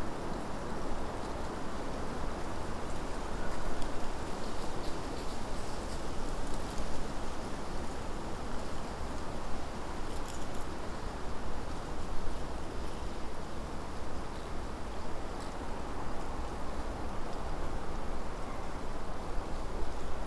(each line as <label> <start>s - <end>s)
rustling movements of small animals in the bushes 0.0s - 20.2s